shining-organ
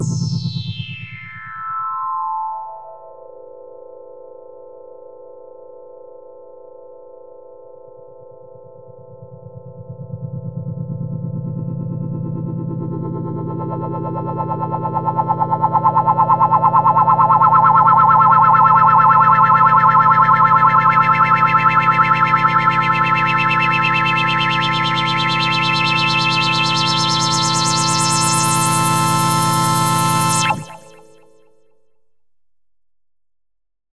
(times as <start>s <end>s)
14.0s 31.4s